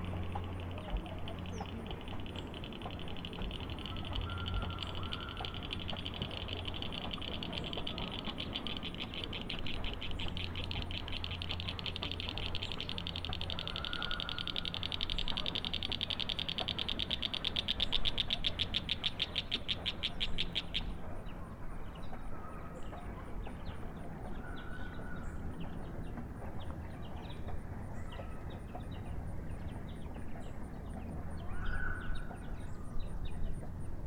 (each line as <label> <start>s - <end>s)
cicada 0.0s - 21.0s
paddleboat 0.0s - 34.0s